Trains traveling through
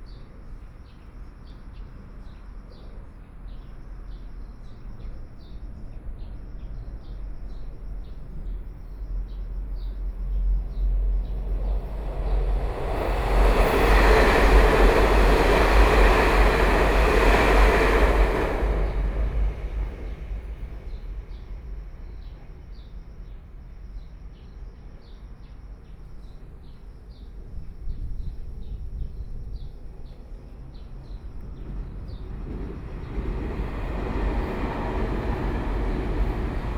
0:09.3 0:24.3, 0:28.3 0:36.7

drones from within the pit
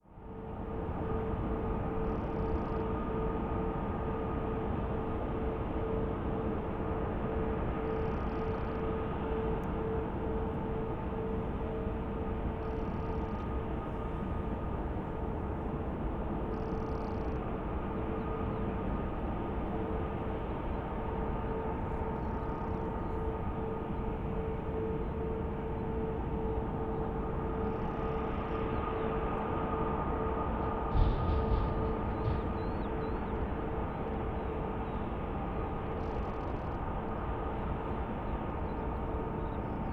0:21.6 0:36.8

